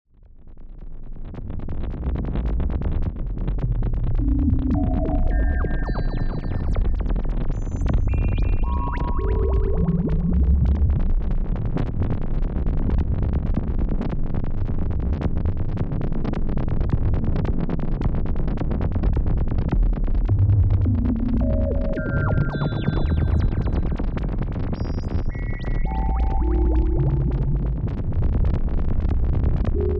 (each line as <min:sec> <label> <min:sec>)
0:03.3 otherworldly sounds 0:11.2
0:04.2 rhythmic lasers 0:07.0
0:20.2 otherworldly sounds 0:29.0
0:20.8 rhythmic lasers 0:24.2
0:24.8 rhythmic lasers 0:27.8
0:29.6 otherworldly sounds 0:29.9
0:29.8 rhythmic lasers 0:29.9